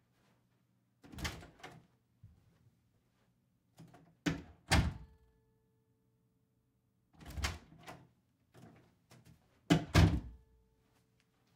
0.0s Very slight footsteps (on carpet) 0.7s
1.0s door being opened and closed 1.8s
2.2s Very slight footsteps (on carpet) 3.4s
3.8s door being opened and closed 5.1s
7.2s door being opened and closed 8.8s
9.7s door being opened and closed 10.4s
10.7s Very slight footsteps (on carpet) 11.5s

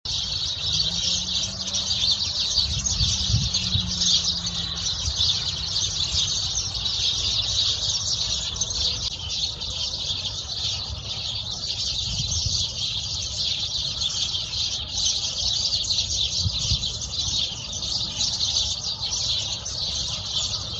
0.0s Sparrows in shrubs 20.7s

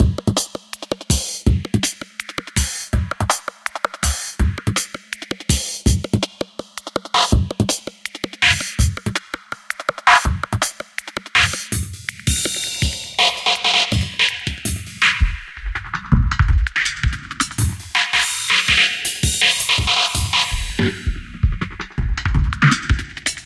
0.0s breakbeat 23.4s

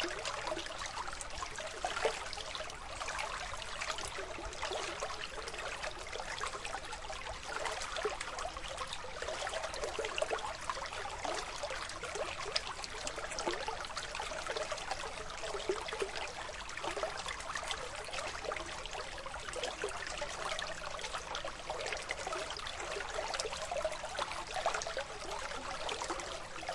0.0s brook gurgling 26.7s

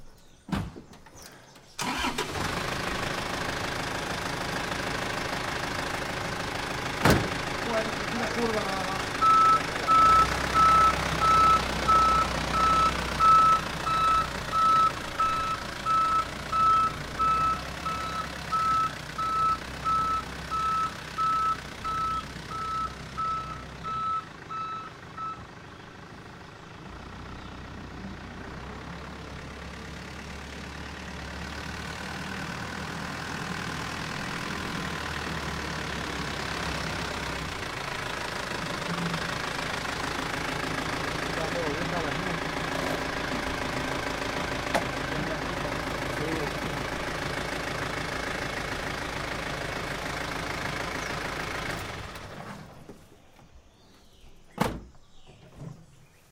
0.5s door open close slam 1.1s
1.2s truck throaty backup slow 54.0s
7.0s door open close slam 7.4s
7.5s voices 19.4s
38.6s voices 47.3s
54.5s door open close slam 55.8s

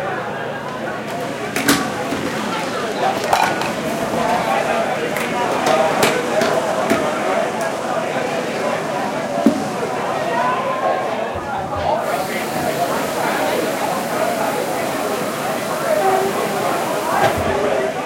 0.0s voice of people 18.0s
1.6s making coffee 7.1s
2.0s Waves 18.0s

